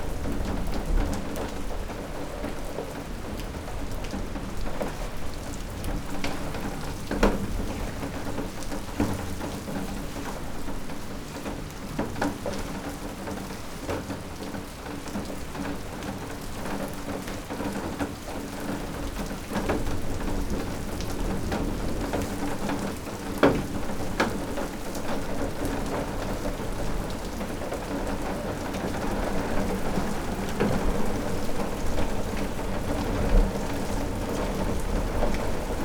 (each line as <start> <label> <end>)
0.0 flood water flowing down the drive 35.8
15.2 metal door open in the horizontal position catching the rain drops 35.8